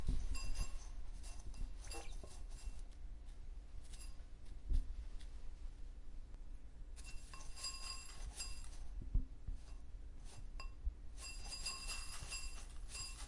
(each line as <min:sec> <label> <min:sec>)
0:00.0 sitting inside its bowl eating bird seed 0:05.3
0:06.9 sitting inside its bowl eating bird seed 0:13.2